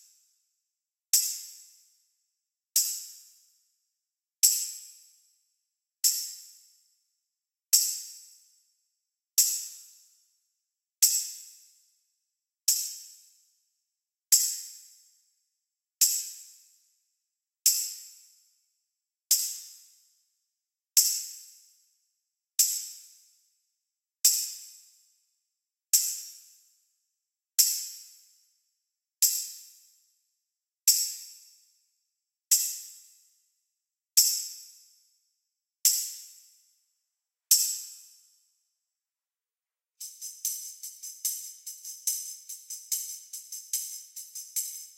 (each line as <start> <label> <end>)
29.2 tambourines 30.0
30.9 tambourines 31.8
34.2 tambourines 35.1
35.9 tambourines 36.8
37.5 tambourines 38.4
40.0 tambourines 44.9